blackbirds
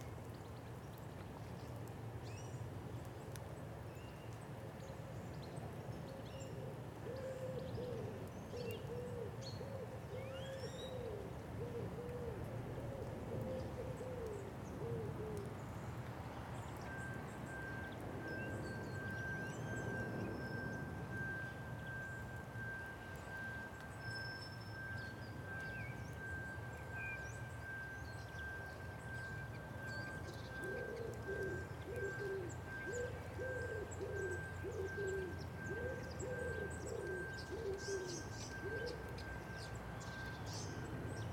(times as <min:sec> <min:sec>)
0:28.6 0:41.3